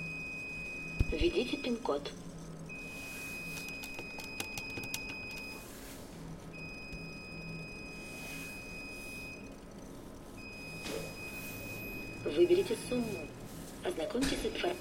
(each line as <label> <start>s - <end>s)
atm usage 0.0s - 6.8s
speech 1.1s - 2.2s
speech 12.3s - 14.8s